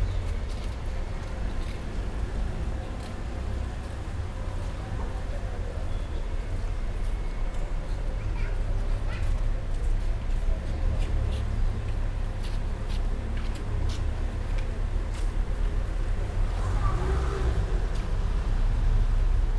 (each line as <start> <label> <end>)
0.0 walking the streets 19.5